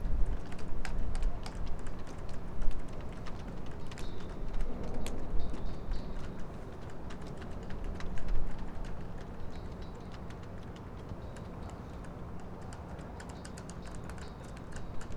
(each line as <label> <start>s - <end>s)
poles of the flags in wind 0.0s - 15.1s